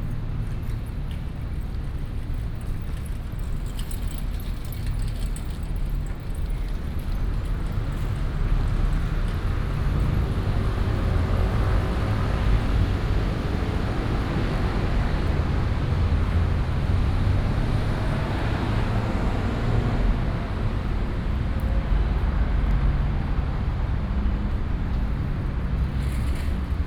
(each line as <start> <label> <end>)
0.0 Traffic Sound 26.8